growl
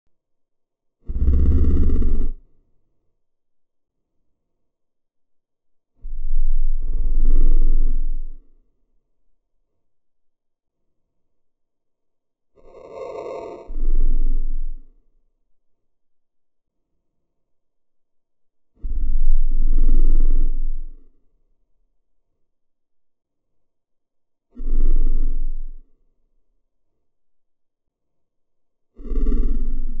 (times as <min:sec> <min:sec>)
0:01.0 0:02.6, 0:06.0 0:08.7, 0:12.6 0:15.0, 0:18.8 0:21.2, 0:24.5 0:26.0, 0:28.9 0:30.0